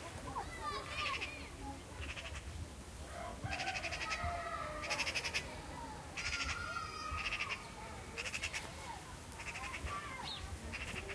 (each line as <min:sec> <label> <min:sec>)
0:00.0 villagers go about their business, talking outside 0:11.1
0:03.1 occasional rooster 0:05.4
0:03.1 Crows 0:05.5
0:06.2 Crows 0:08.7
0:09.4 Crows 0:10.1